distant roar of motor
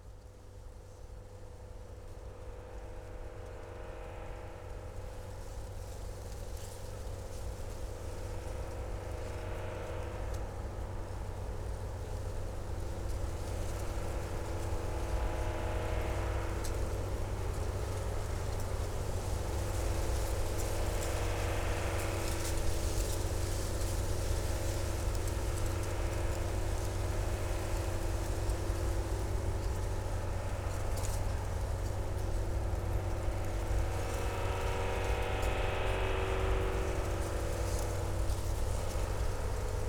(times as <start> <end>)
8.4 39.8